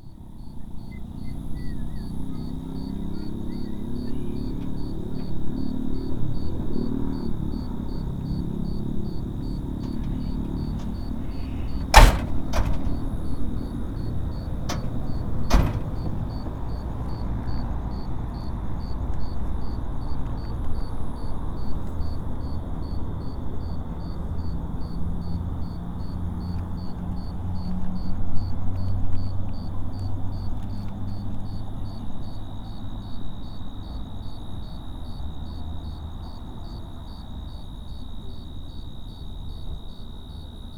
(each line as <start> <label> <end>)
0.0 Crickets 40.7
8.6 old Ford truck starting its engine 16.8